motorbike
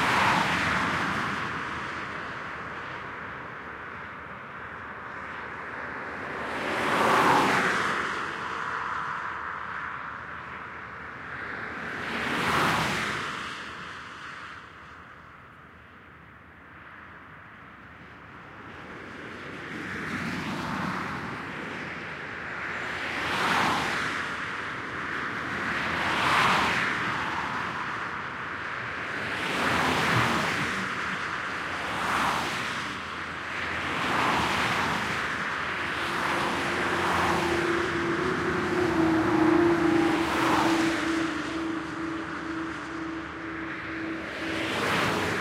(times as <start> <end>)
22.7 45.4